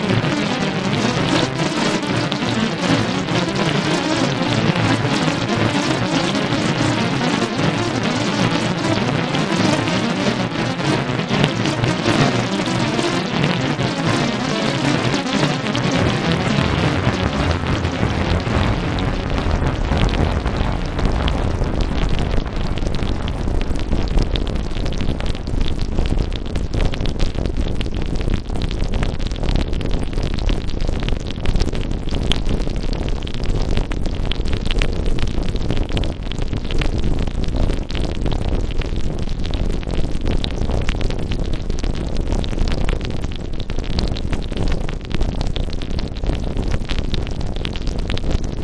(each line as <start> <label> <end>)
0.0 Granular synth 25.7
0.0 bubble 36.1